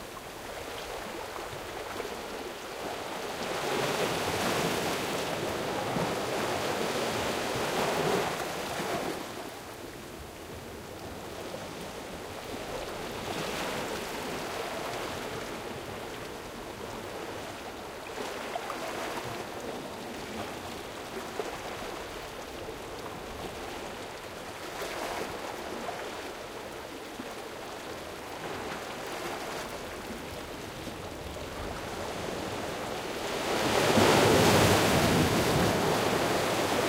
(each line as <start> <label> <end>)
33.3 shore waves hitting rocks 36.8